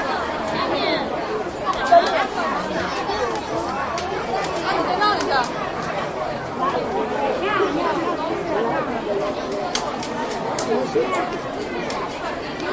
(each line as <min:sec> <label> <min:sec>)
0:00.0 Chinese speaking crowd 0:12.7